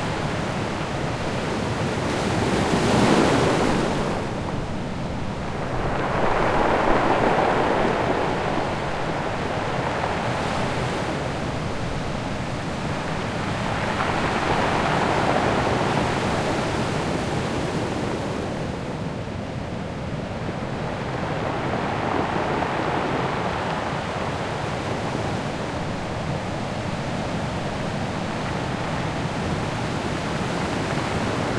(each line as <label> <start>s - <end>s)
sea 0.0s - 31.5s
foam 4.6s - 10.7s